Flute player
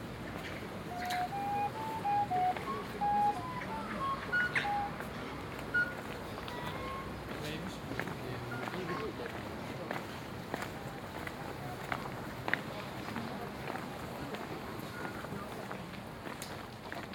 0.8 7.1

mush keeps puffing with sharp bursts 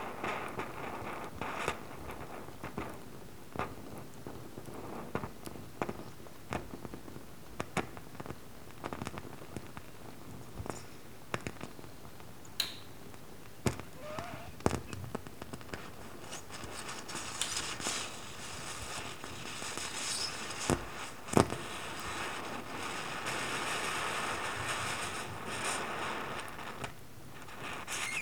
13.8 14.9

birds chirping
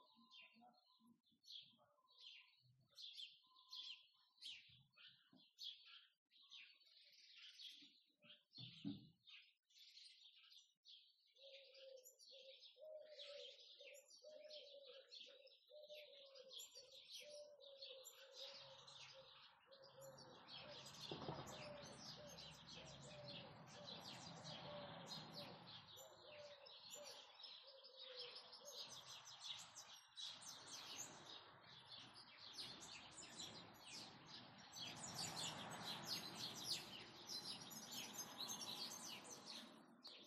12.7 40.2

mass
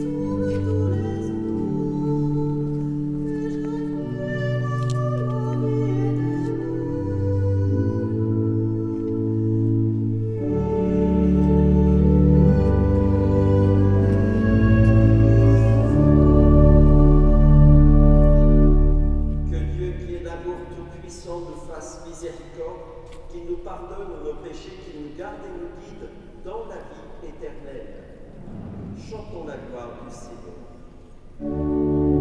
28.4 30.2

